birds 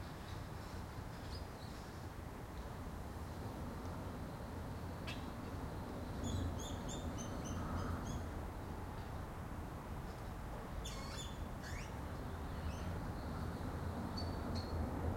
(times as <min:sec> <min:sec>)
0:05.0 0:08.4, 0:10.1 0:15.1